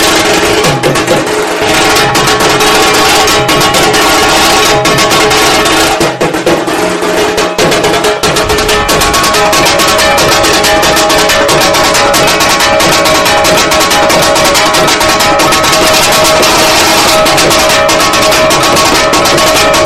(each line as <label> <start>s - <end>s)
Dhaak beats 0.0s - 19.8s
kashor ghanta 0.0s - 19.8s